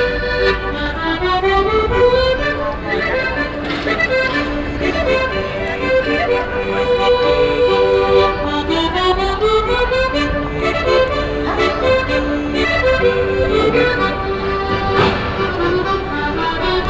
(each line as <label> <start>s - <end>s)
accordeon player 0.0s - 16.8s